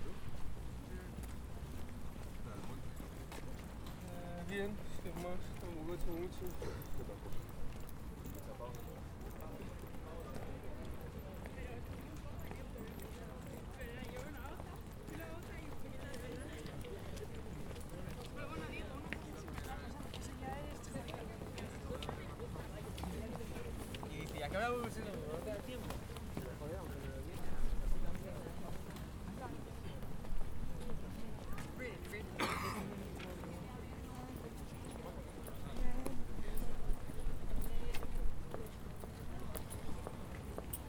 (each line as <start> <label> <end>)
0.4 conversations 40.8
6.5 Someone coughs 7.1
32.4 Someone coughs 33.0